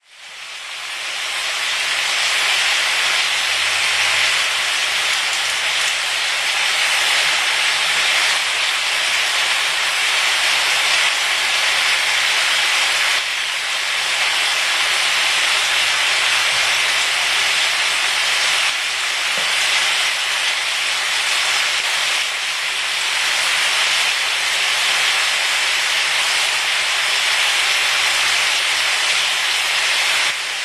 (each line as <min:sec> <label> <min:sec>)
0:00.0 frying meat, onion, pepper 0:30.6